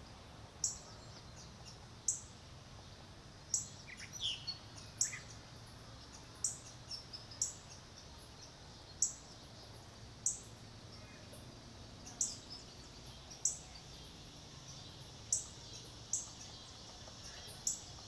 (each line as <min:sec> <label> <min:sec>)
0:00.0 Birdsong 0:18.0